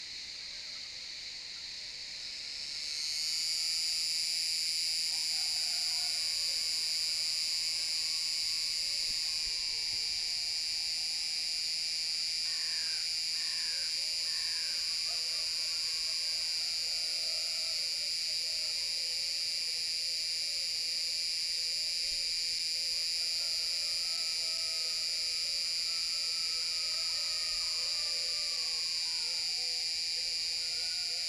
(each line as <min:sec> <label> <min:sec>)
0:02.7 cicada singing 0:16.9